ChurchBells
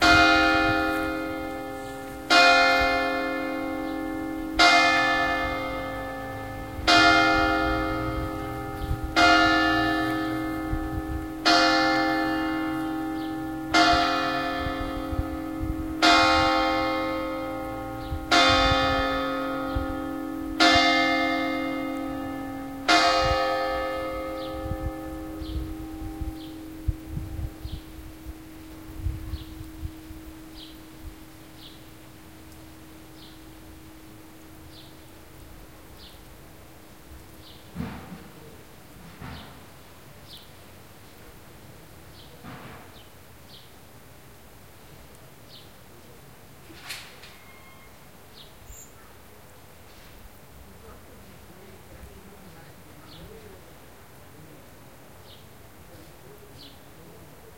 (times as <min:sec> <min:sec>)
0:00.0 0:37.4, 0:47.2 0:48.0